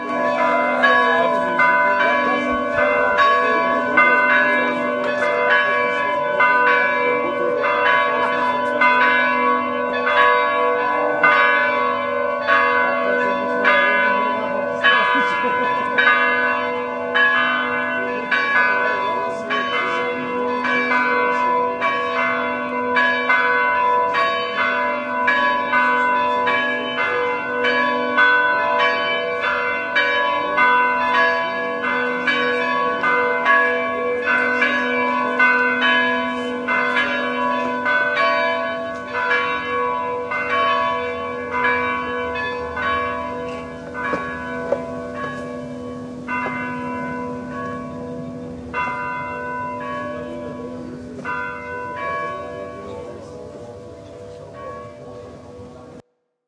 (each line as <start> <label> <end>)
0.0 churchbells 56.4